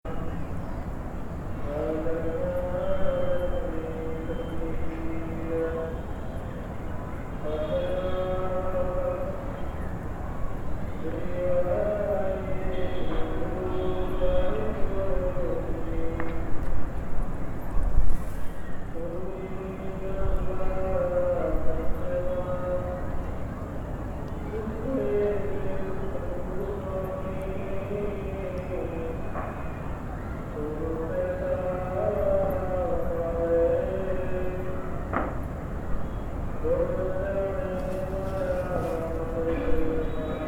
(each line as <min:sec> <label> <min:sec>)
0:00.1 very sad melody is sung by a man far away 0:17.3
0:18.8 very sad melody is sung by a man far away 0:40.4